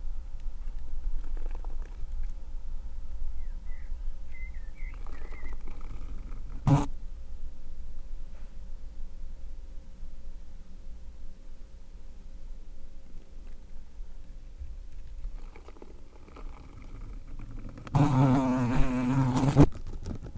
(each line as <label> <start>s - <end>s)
Fly eating 6.7s - 6.9s
Fly eating 18.0s - 19.7s